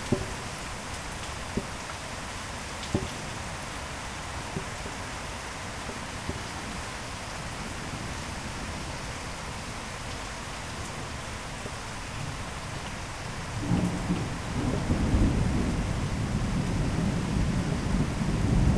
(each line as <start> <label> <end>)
0.0 Dropping water makes some drum sounds 7.8
0.0 Heavy rain 18.7